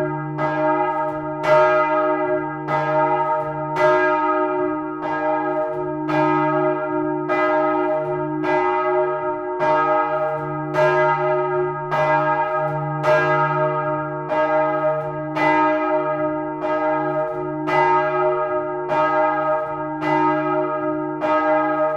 single bells each recorded seperately 0:00.0 - 0:21.9

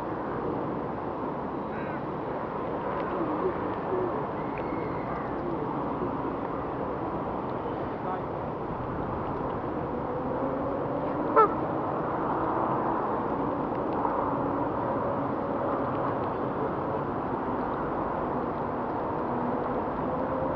swans 0:03.0 - 0:06.4
swans 0:11.0 - 0:11.6
geese (100s of them) 0:11.3 - 0:11.6
ducks swimming 0:11.3 - 0:11.6

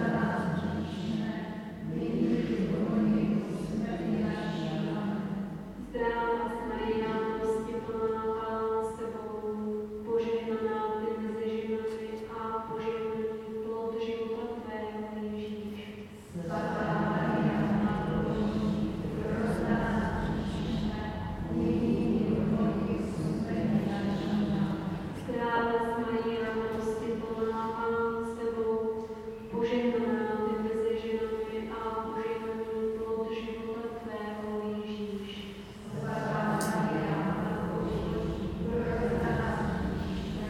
Prayer 0:00.0 - 0:40.4

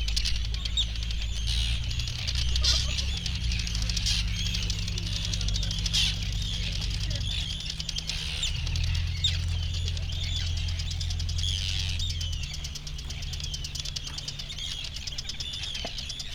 arctic tern colony 0:00.0 - 0:16.3
boats 0:00.0 - 0:16.3
planes 0:00.0 - 0:16.3

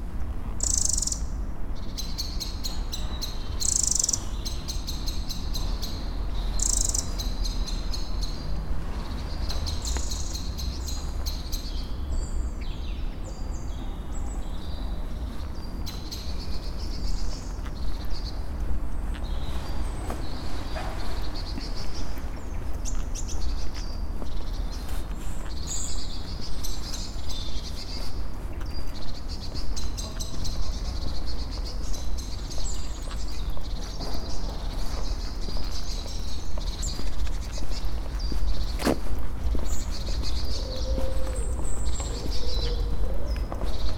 pedestrian 0:00.0 - 0:43.9
Walk 0:00.0 - 0:43.9
Birds 0:00.6 - 0:43.9

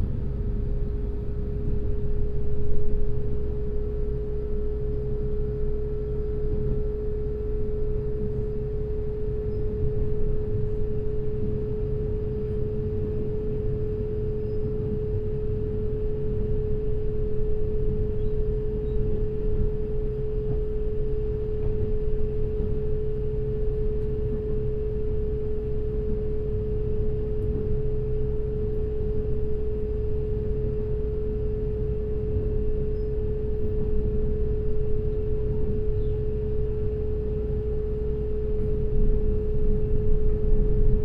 Train compartment 0:00.0 - 0:41.0

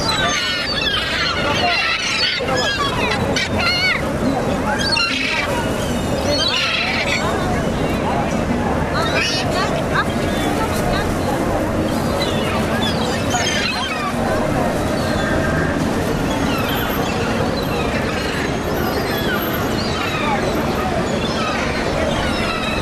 seagulls being fed 0:00.0 - 0:08.0
seagulls being fed 0:08.9 - 0:22.8

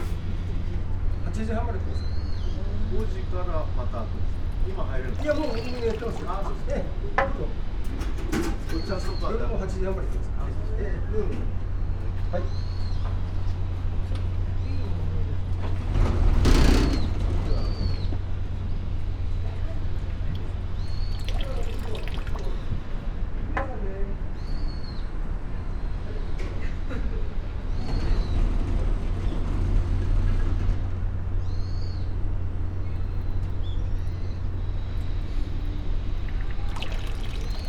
water flow 0:04.3 - 0:07.0
bamboo tube 0:05.0 - 0:06.7
water flow 0:19.8 - 0:23.0
bamboo tube 0:20.1 - 0:22.8
water flow 0:32.6 - 0:37.6
bamboo tube 0:36.2 - 0:37.6

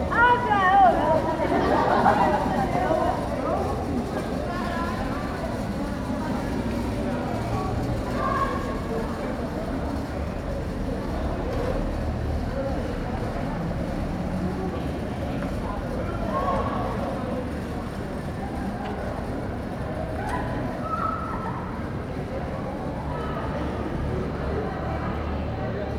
Groups of students passed the boardwalk 0:00.0 - 0:25.9

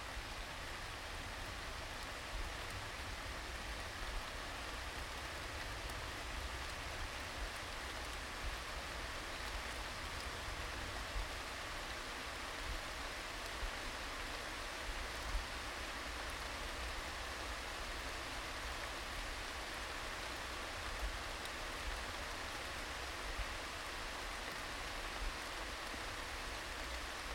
rain 0:00.0 - 0:27.3

